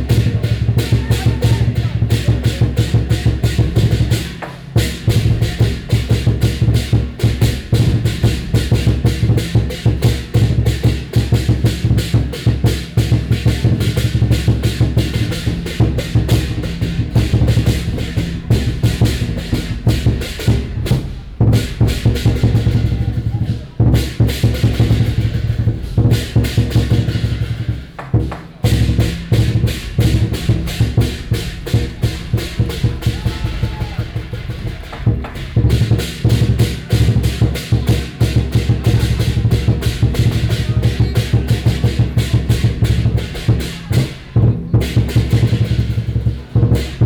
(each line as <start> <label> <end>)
0.0 Crowd cheers 2.8
0.0 Percussion 47.0
31.8 Crowd cheers 35.5